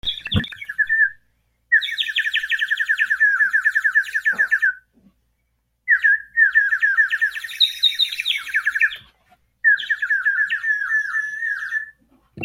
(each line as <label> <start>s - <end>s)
bird whistle filled with water 5.9s - 9.0s
bird whistle filled with water 9.6s - 12.0s